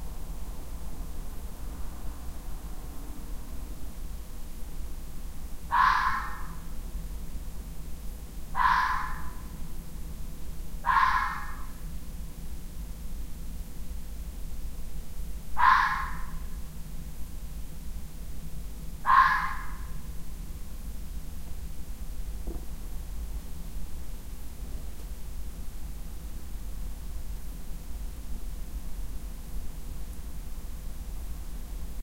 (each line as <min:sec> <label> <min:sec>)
0:05.7 Fox barking in the distance 0:06.6
0:08.5 Fox barking in the distance 0:09.5
0:10.8 Fox barking in the distance 0:11.8
0:15.6 Fox barking in the distance 0:16.6
0:19.0 Fox barking in the distance 0:20.1